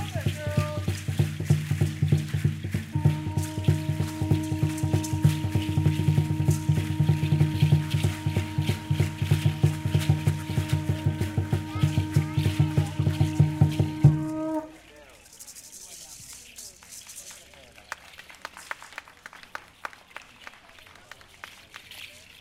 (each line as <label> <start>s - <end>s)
Drumming 0.0s - 14.8s
Shakers 0.0s - 22.4s
Conch Horn Blow 2.8s - 14.9s